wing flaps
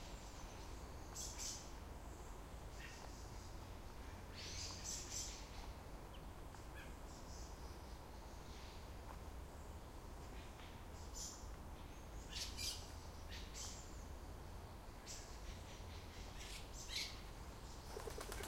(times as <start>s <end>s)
17.9s 18.4s